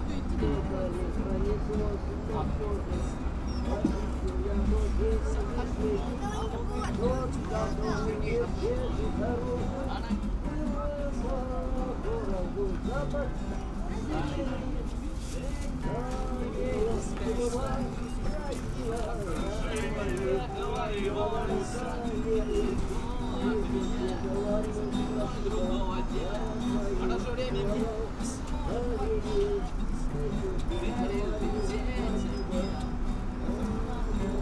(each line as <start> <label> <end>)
0.0 Two street musicians 34.4
0.0 ambient street noise 34.4